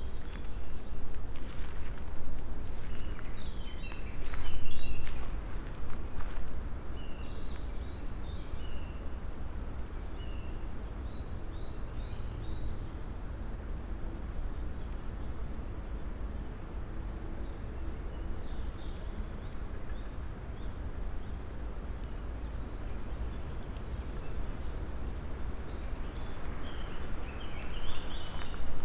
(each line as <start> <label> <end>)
0.0 slow walk 7.8
0.0 dry leaves 9.4
0.0 birds 28.8
0.0 wind 28.8
17.5 dry leaves 28.8
22.0 slow walk 28.8